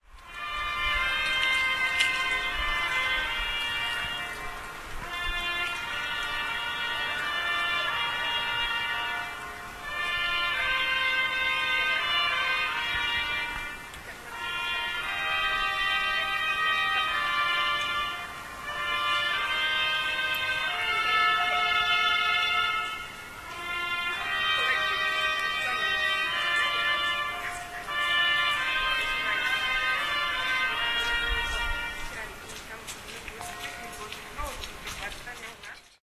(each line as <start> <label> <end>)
0.0 trumpet 36.0